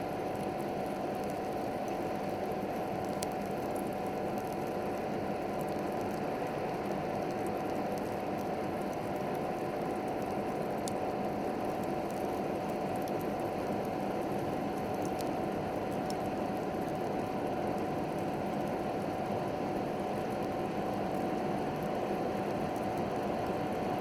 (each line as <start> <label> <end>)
0.0 fan on 24.0
0.0 Coal burning 24.0